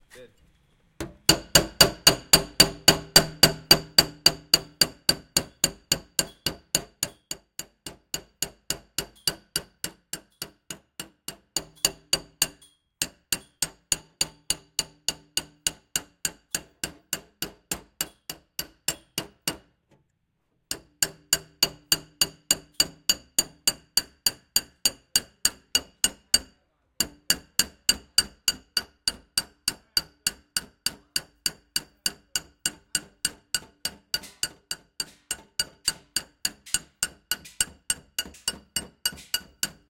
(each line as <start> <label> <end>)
1.0 hammering pieces of iron 19.7
20.7 hammering pieces of iron 39.8